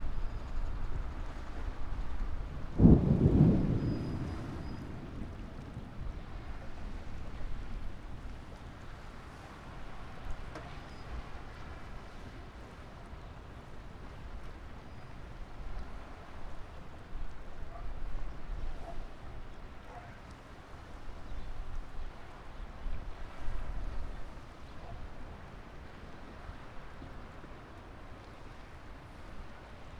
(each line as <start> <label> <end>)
0.0 strong wind 12.4
1.6 crashing of the waves on the breakwater 17.4
2.5 Thunder 8.6